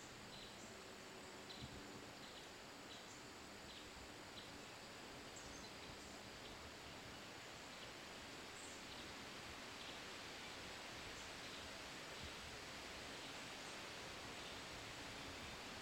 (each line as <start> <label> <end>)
0.0 river 15.8